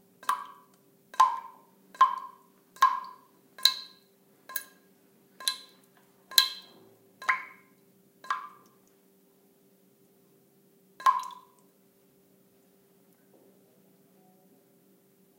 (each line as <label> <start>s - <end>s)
dripping 5.4s - 8.9s
dripping 11.0s - 11.6s